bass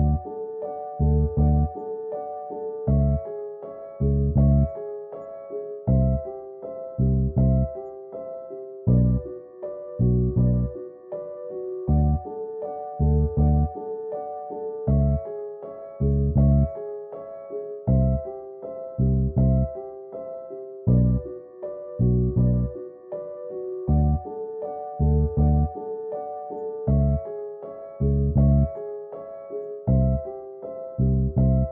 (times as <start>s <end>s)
0.0s 1.8s, 2.8s 3.3s, 3.9s 5.0s, 5.8s 6.3s, 6.9s 7.8s, 8.9s 9.4s, 10.0s 10.8s, 11.9s 12.3s, 12.9s 13.8s, 14.9s 15.3s, 15.9s 16.8s, 17.9s 18.3s, 18.9s 19.8s, 20.9s 21.4s, 22.0s 22.8s, 23.9s 24.3s, 24.9s 25.8s, 26.9s 27.3s, 27.9s 28.8s, 29.8s 30.3s, 30.9s 31.7s